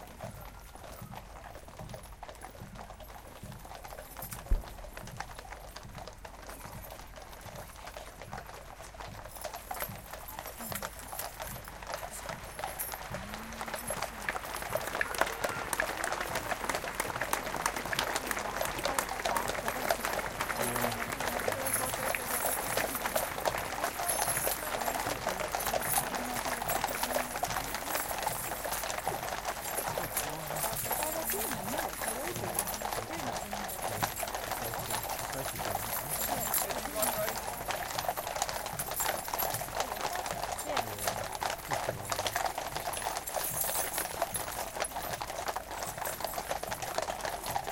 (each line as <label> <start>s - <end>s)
marching soldiers 0.0s - 47.7s
trotting horses 0.0s - 47.7s
marching band 2.0s - 46.6s
applause from the crowd 9.8s - 37.8s
applause from the crowd 39.6s - 44.5s